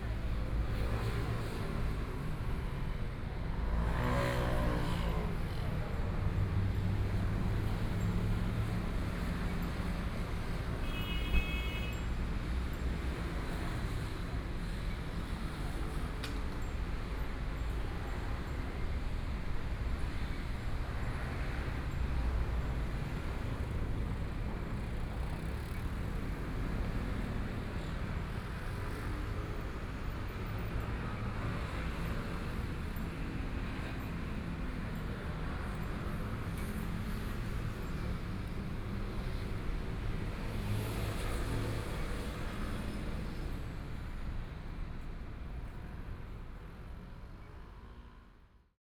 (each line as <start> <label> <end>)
0.0 Traffic Sound 48.4